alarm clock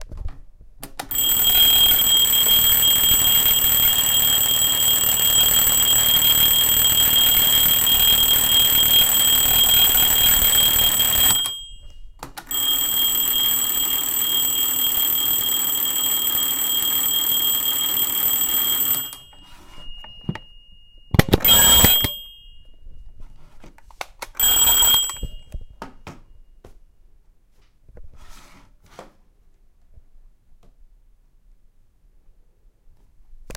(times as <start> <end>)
1.1 22.9, 24.4 25.8